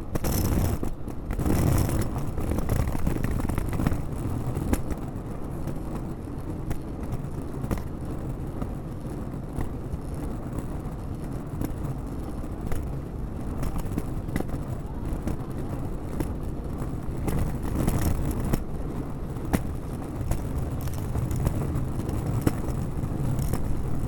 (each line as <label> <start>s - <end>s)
Luggage Bag Drag 0.2s - 4.0s
Luggage Bag Drag 19.6s - 24.0s